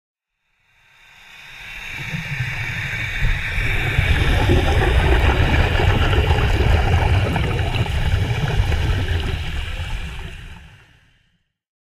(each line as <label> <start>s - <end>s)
exhaust on an Ah-5 freeflow helmet 2.0s - 10.8s